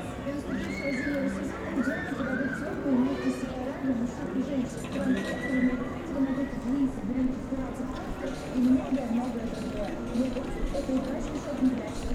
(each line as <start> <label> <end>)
0.0 walking people 12.1